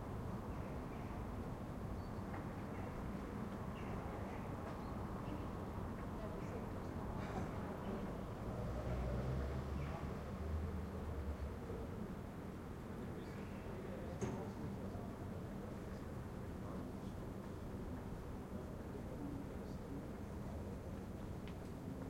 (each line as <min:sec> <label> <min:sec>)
0:08.1 cars 0:11.7